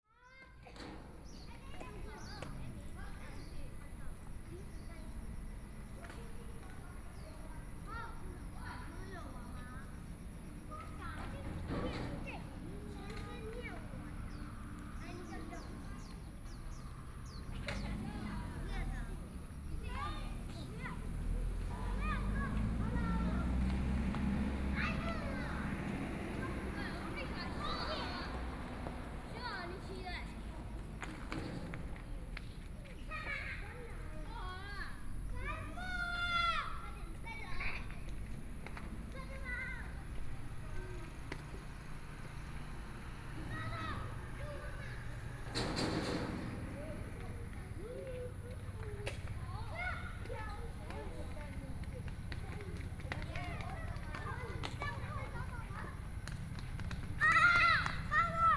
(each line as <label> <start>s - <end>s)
children playing games 0.0s - 58.5s
Traffic Sound 0.2s - 58.5s